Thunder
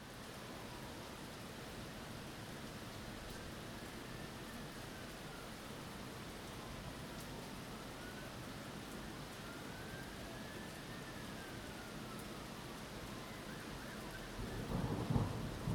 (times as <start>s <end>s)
14.4s 15.7s